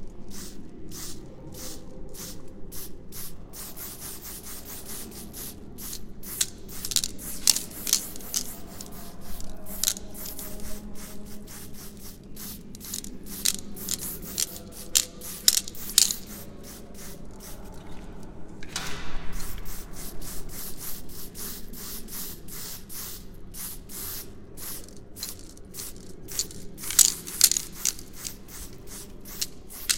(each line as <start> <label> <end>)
0.3 spraycan 17.2
19.3 spraycan 29.9